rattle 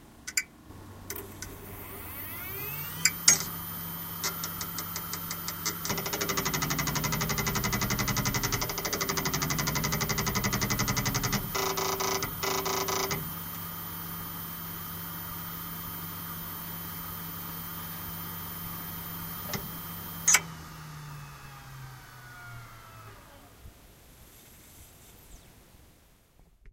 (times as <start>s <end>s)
4.2s 13.4s